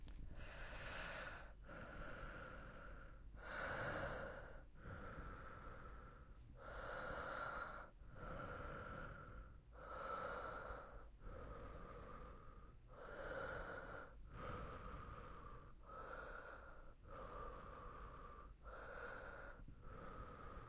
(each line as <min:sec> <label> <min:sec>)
0:00.1 breathing 0:20.6